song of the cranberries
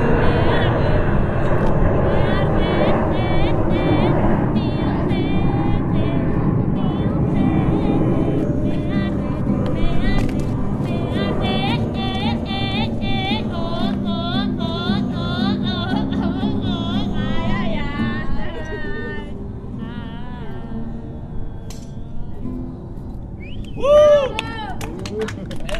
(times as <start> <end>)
2.0 18.9